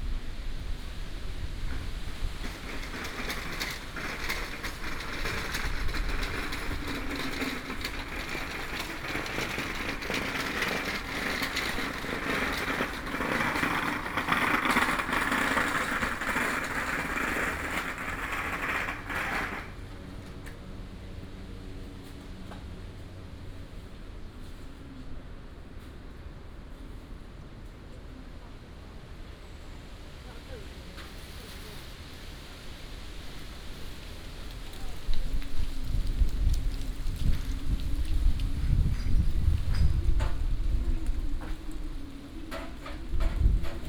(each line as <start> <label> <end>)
0.0 wind and Leaves 43.8
1.0 Walking in the Park 26.0
30.5 Walking in the Park 43.8